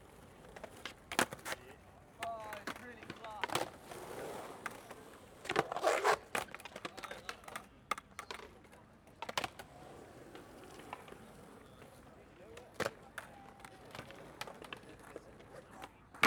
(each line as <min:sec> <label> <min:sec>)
0:00.0 skating 0:08.6